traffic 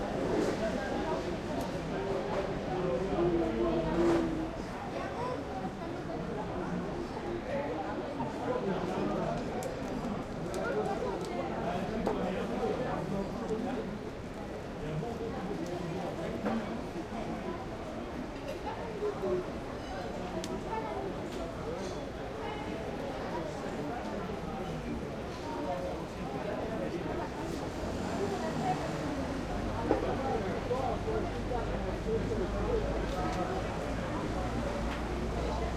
27.0s 35.7s

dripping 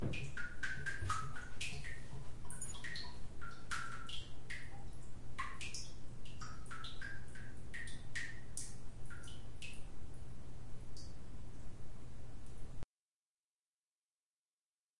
0.0s 9.9s

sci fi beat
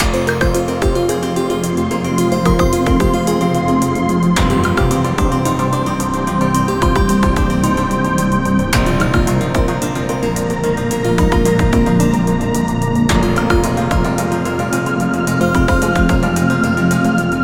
2.4s 3.3s, 8.8s 9.9s

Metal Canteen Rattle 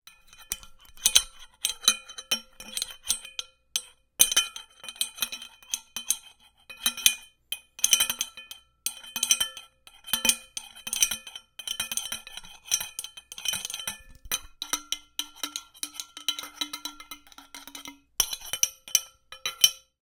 13.4s 18.4s

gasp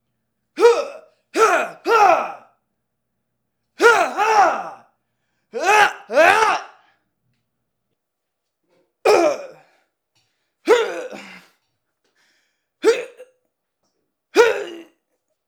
11.1s 12.8s

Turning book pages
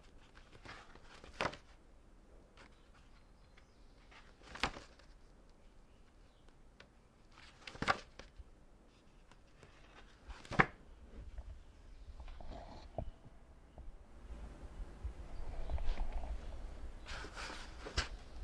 0.0s 1.8s, 2.6s 10.8s, 15.8s 18.4s

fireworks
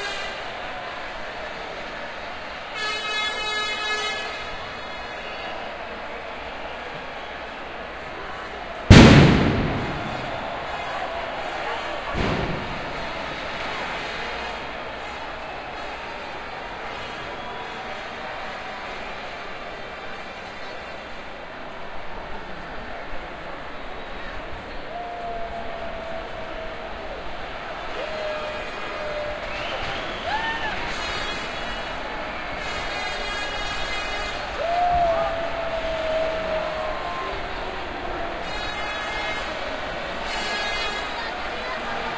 8.9s 14.6s

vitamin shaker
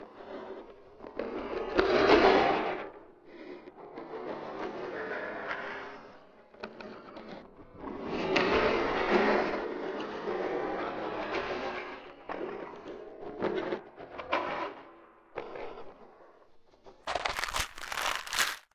17.1s 18.7s

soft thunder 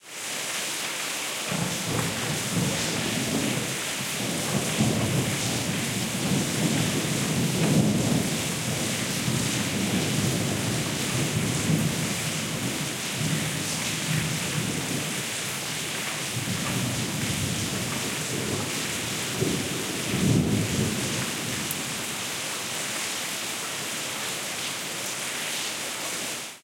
1.5s 22.2s

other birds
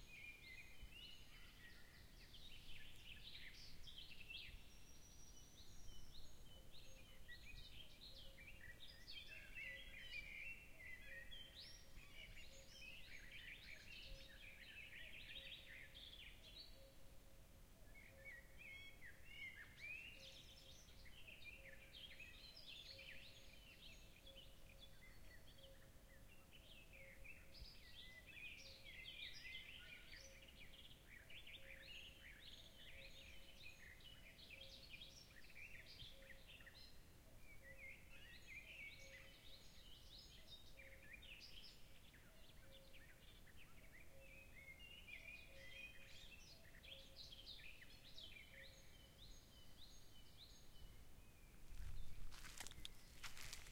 20.8s 53.7s

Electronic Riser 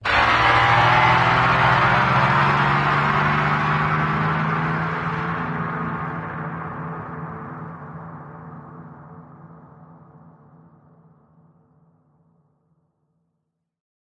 0.0s 8.9s

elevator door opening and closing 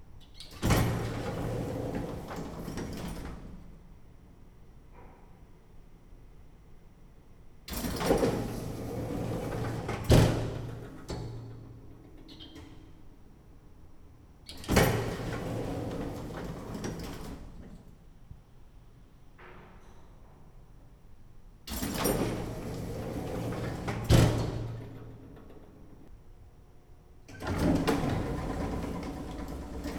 0.4s 3.7s, 7.7s 13.2s, 14.5s 17.9s, 21.7s 26.1s, 27.3s 29.9s

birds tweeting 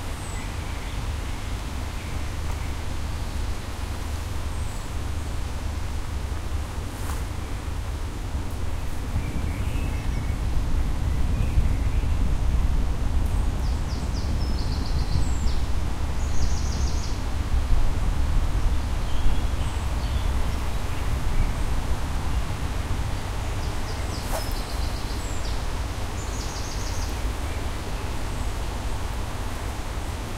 9.0s 12.3s, 13.3s 17.2s, 18.8s 28.6s

